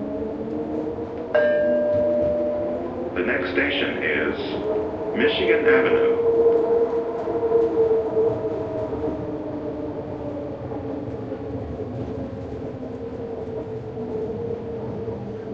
1.4s announcement 6.3s

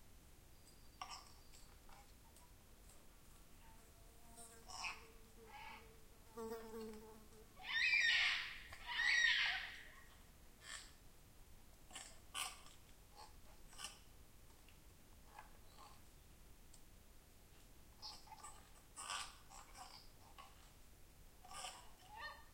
7.6s Yellow-tailed Black Cockatoos 10.0s
11.9s Yellow-tailed Black Cockatoos 14.0s
18.0s Yellow-tailed Black Cockatoos 20.7s
21.4s Yellow-tailed Black Cockatoos 22.5s

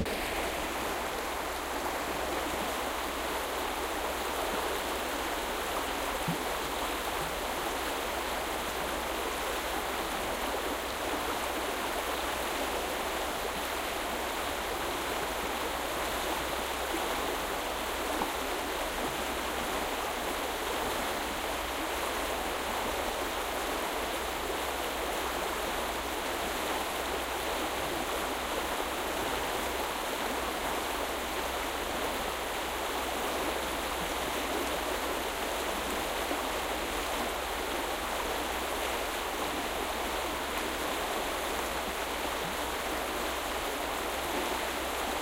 0.0s river 45.2s

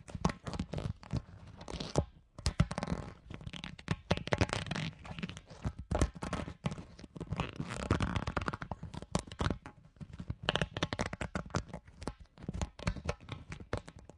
0.0s big rubber-ball (semi depleted) twisted and moved slowly 14.1s

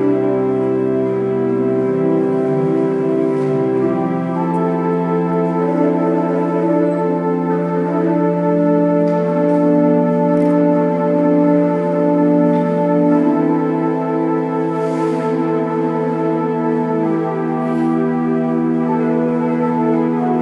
0.0s Organ performance 20.4s

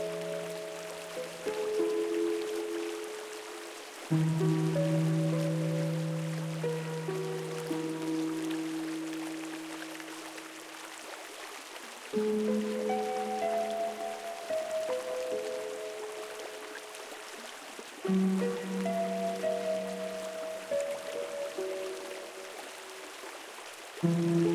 0.0s synthesizer 10.7s
0.0s water 24.5s
12.1s synthesizer 17.4s
12.2s harp 16.8s
18.0s synthesizer 23.1s
24.0s synthesizer 24.5s

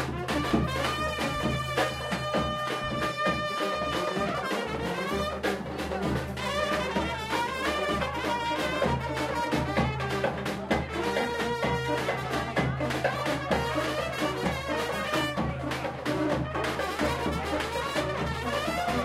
0.0s brass 19.0s

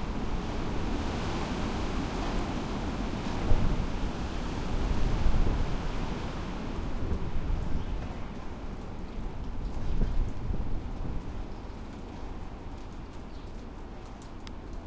0.0s strongish wind in trees 12.6s
0.0s rain 14.8s

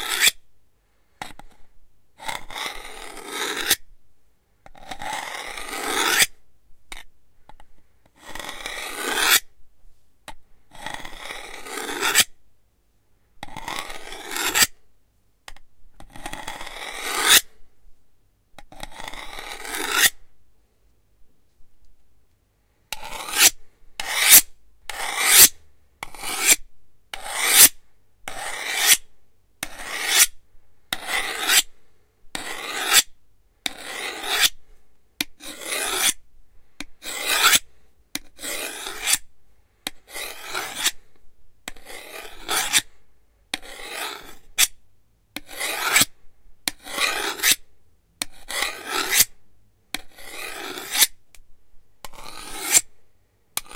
0.0s Sharpening a knife 0.4s
2.2s Sharpening a knife 3.8s
4.8s Sharpening a knife 7.0s
8.2s Sharpening a knife 9.5s
10.8s Sharpening a knife 12.3s
13.5s Sharpening a knife 14.8s
16.2s Sharpening a knife 17.6s
18.8s Sharpening a knife 20.2s
22.9s Sharpening a knife 31.7s
32.4s Sharpening a knife 34.6s
35.2s Sharpening a knife 36.2s
37.0s Sharpening a knife 39.3s
40.1s Sharpening a knife 41.1s
41.7s Sharpening a knife 42.9s
43.5s Sharpening a knife 44.8s
45.4s Sharpening a knife 47.6s
48.2s Sharpening a knife 49.4s
50.0s Sharpening a knife 51.2s
52.0s Sharpening a knife 52.9s

